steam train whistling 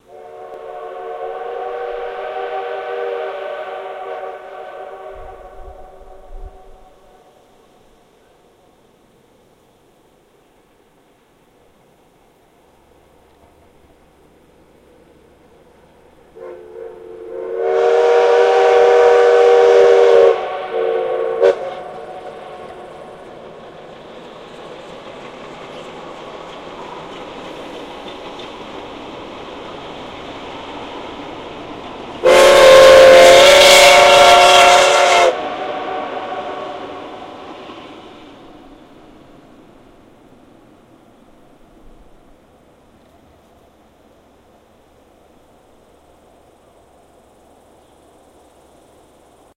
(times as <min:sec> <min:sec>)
0:00.0 0:08.4, 0:15.6 0:39.8